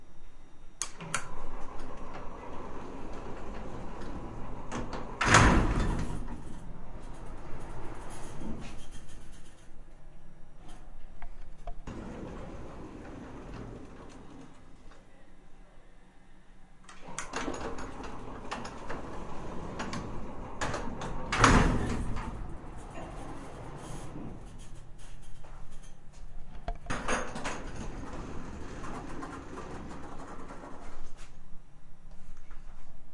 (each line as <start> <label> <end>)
0.0 very old elevator 15.3
16.9 very old elevator 33.0